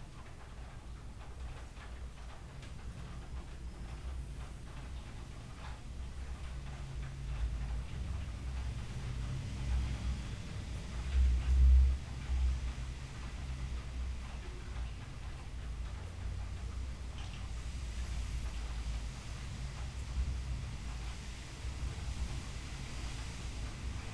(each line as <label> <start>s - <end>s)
rain 0.0s - 24.1s